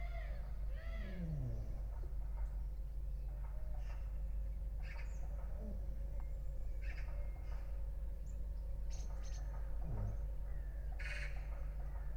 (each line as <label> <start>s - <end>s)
birds 0.0s - 12.1s